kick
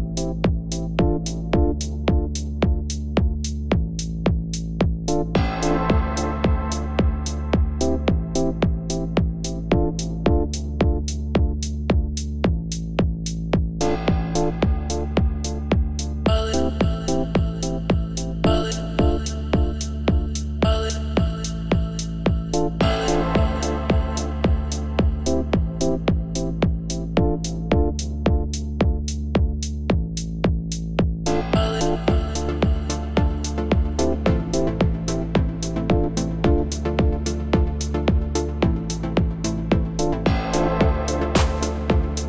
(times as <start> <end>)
37.0 42.1